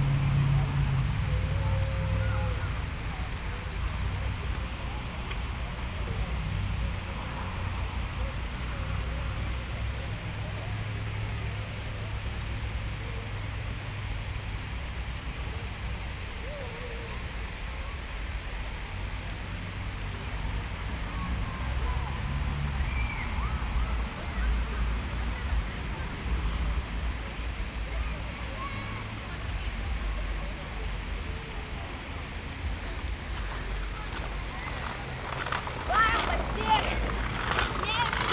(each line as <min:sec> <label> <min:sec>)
0:00.0 central fountain 0:38.3
0:00.0 kids playing in it 0:38.3